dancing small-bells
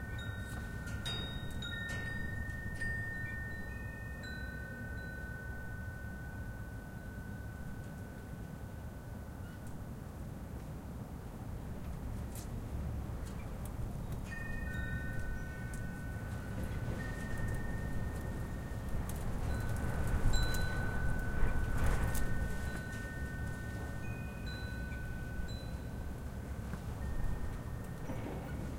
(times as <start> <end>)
0.0 9.2, 14.3 28.1